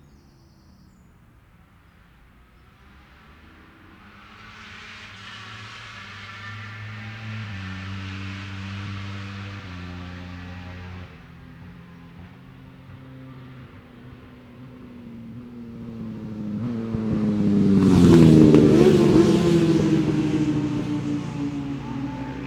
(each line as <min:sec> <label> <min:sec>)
0:03.0 Lightweight motorbike practice 0:22.4